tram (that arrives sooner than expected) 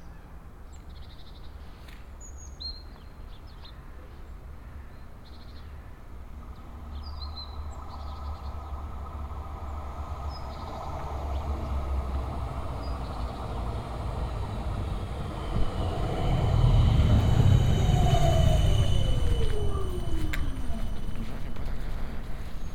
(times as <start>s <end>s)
6.4s 22.7s